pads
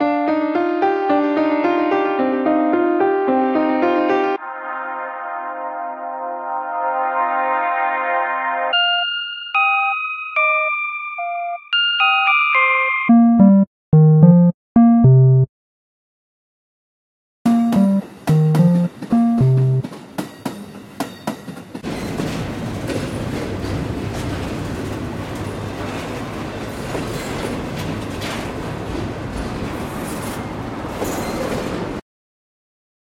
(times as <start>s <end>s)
17.5s 19.9s